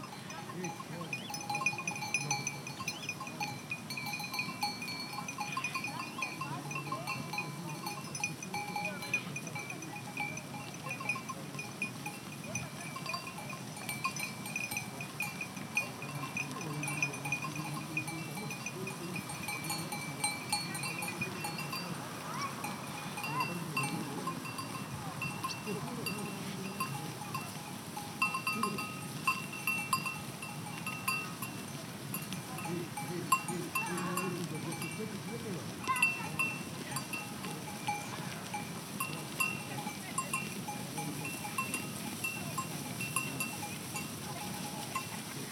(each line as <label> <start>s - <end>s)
flock of sheep 0.0s - 45.5s